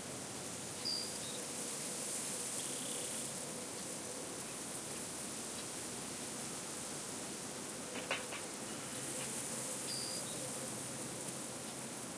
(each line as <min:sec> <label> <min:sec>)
0:07.9 birds 0:10.8